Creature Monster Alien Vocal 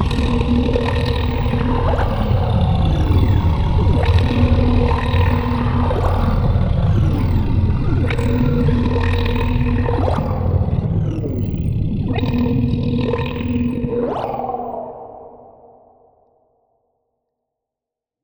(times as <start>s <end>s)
0.0s 9.2s